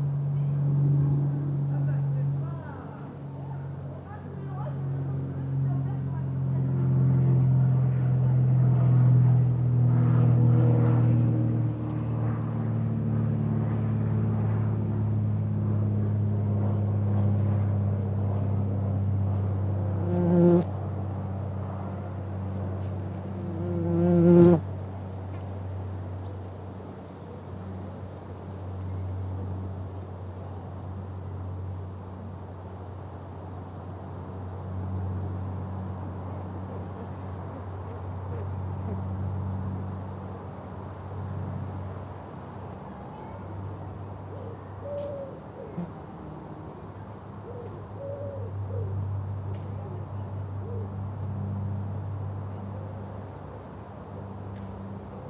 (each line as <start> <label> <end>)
19.9 Mining bees going in and out of their burrow 20.7
22.6 Mining bees going in and out of their burrow 24.6